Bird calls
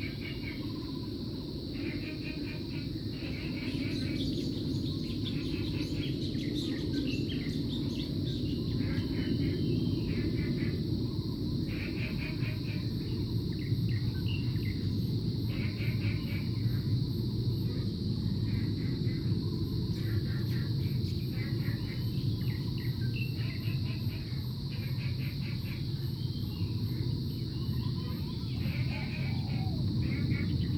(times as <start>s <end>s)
27.6s 30.7s